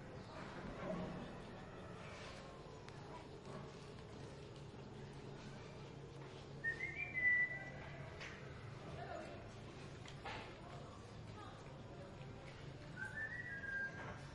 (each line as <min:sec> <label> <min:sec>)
0:00.0 Voices 0:14.3
0:00.2 steps 0:07.2
0:06.6 whistling 0:07.9
0:12.9 whistling 0:14.3